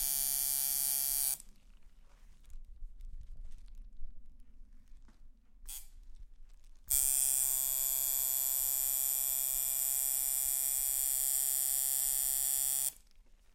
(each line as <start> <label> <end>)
0.0 Tattoo maschine 1.5
5.7 Tattoo maschine 6.0
6.9 Tattoo maschine 13.0